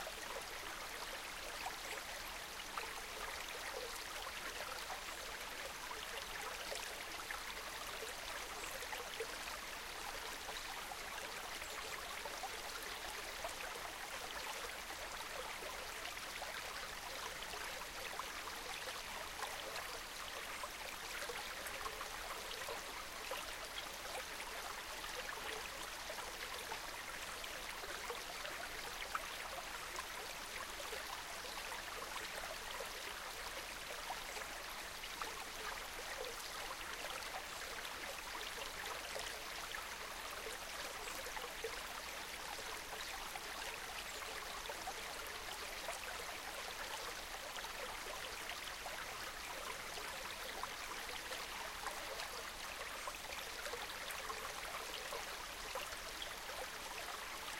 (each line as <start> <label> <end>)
0.0 gentle stream 57.5